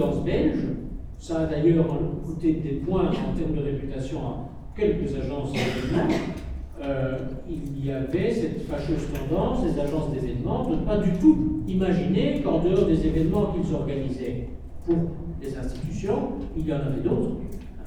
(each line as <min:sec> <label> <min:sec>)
0:00.0 course of politics 0:17.8